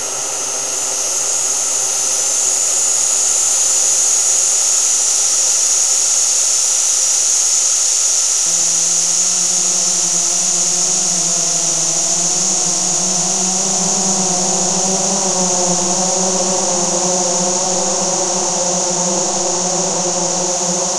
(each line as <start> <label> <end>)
0.0 ambient space drone 20.9